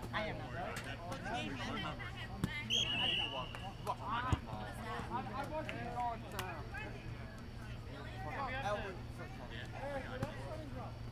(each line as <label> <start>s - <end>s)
Flag Football Game 0.0s - 11.1s